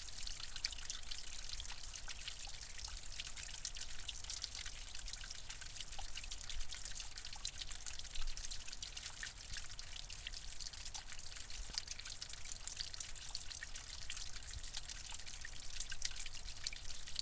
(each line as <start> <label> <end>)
0.0 Small stream splashing on to rocks 17.2